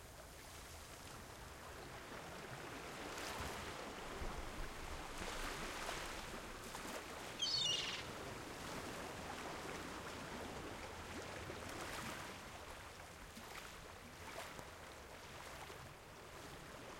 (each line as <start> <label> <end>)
0.0 Sea 16.9
7.4 seagulls 8.1